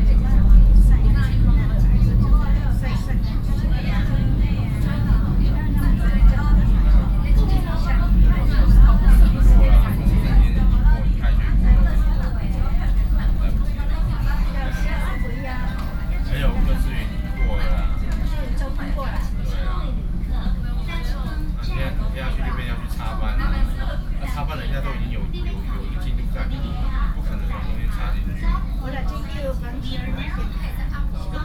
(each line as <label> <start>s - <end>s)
On the train 0.0s - 31.4s